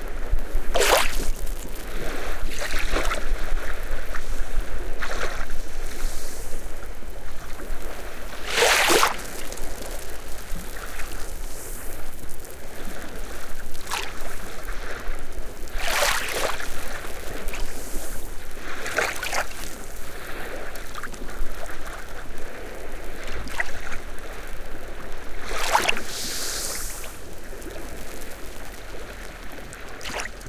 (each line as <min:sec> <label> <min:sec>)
0:00.0 Very gentle waves on the sand 0:30.4
0:00.6 bubbles of the salty foam bursting 0:03.3